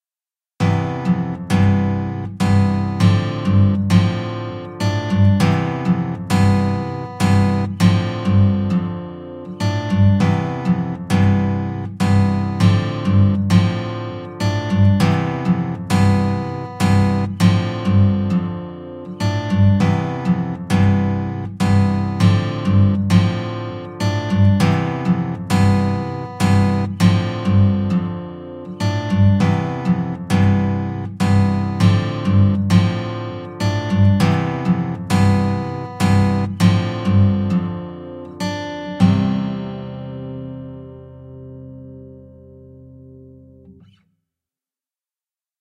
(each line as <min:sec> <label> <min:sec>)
0:00.6 nylon guitar 0:44.0